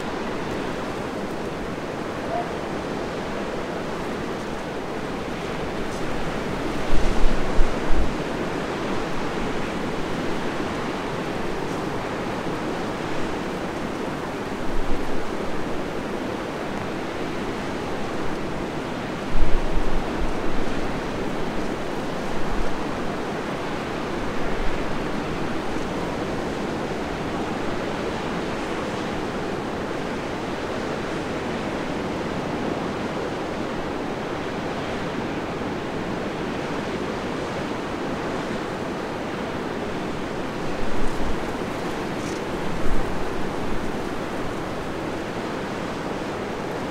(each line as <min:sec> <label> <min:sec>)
0:00.0 waves on a beach 0:46.9
0:00.0 wind noise 0:46.9